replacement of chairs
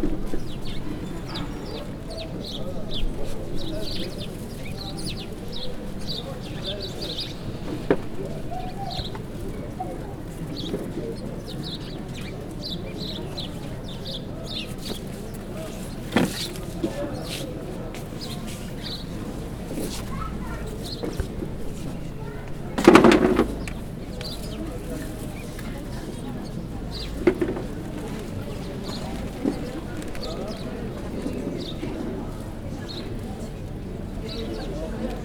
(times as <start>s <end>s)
22.8s 23.8s